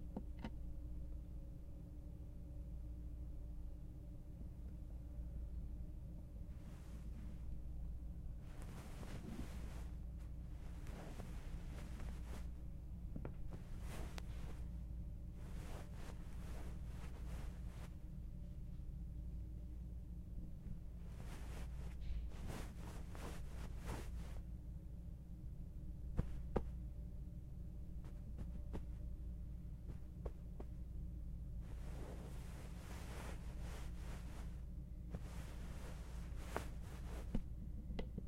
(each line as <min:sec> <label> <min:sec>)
0:06.5 Rustling Pillow Sequence 0:18.3
0:20.6 Rustling Pillow Sequence 0:24.5
0:25.9 Rustling Pillow Sequence 0:27.0
0:27.7 Rustling Pillow Sequence 0:37.5